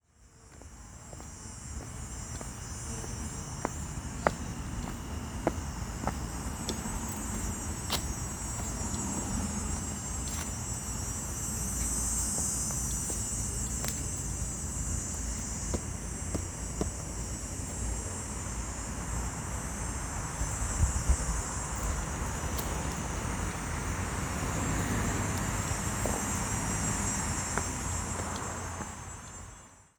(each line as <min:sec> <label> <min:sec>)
0:00.4 leaves 0:29.4
0:00.5 walking 0:18.0
0:00.6 traffic 0:29.9
0:24.4 walking 0:29.4